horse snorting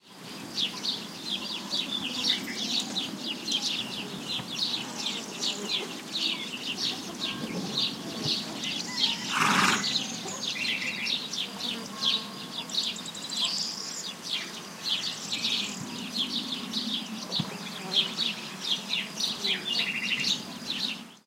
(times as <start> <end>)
9.2 10.1